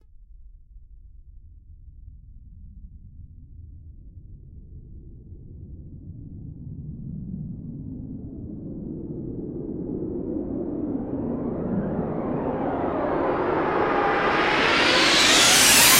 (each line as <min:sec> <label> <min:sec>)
0:10.5 buildup whoosh 0:15.9